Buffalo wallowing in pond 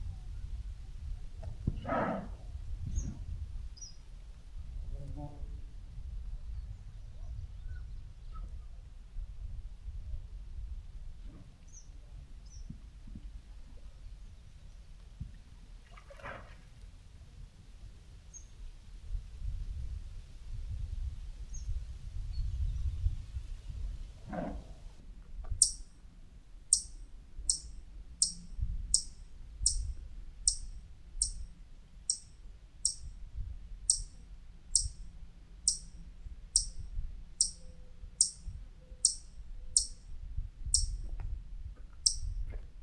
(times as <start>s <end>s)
15.7s 17.0s